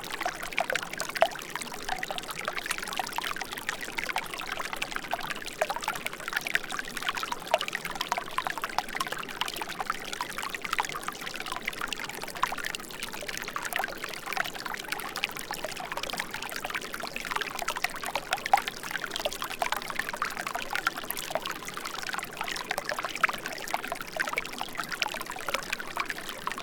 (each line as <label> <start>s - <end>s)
small streams 0.0s - 26.6s